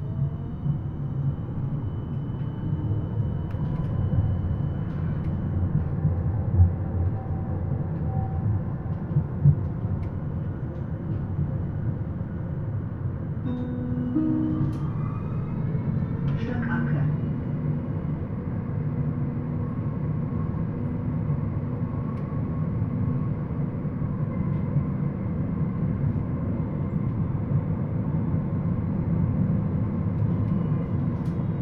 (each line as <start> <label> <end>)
0.0 Tram ride 31.6